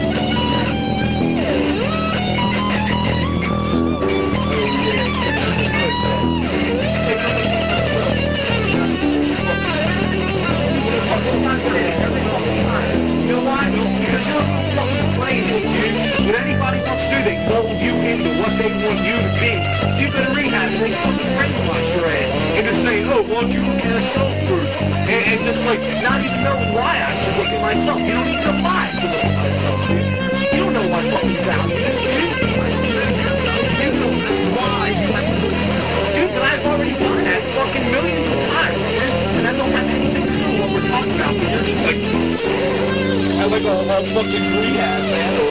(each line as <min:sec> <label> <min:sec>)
0:00.0 argument snippets 0:45.5
0:00.0 tedious rehearsal 0:45.5